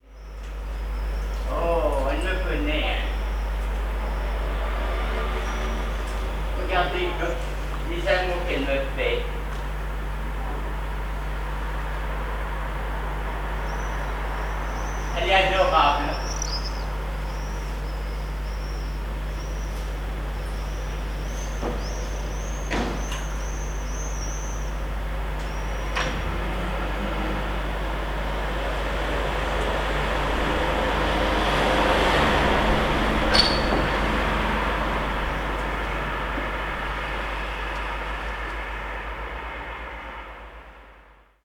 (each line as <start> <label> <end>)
1.5 man talking to a cat 3.2
6.6 man talking to a cat 9.4
15.2 man talking to a cat 16.3